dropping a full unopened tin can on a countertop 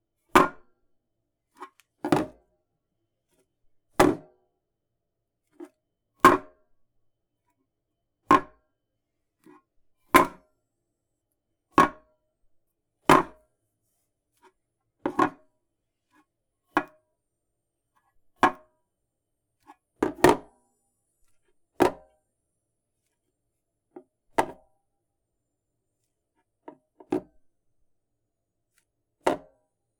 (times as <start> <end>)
2.0 2.4